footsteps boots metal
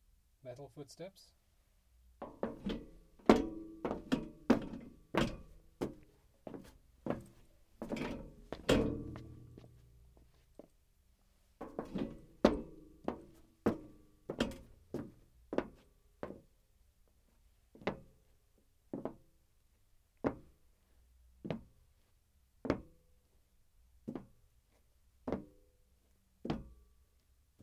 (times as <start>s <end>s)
2.2s 10.8s, 11.6s 16.5s, 20.2s 20.6s, 26.4s 26.8s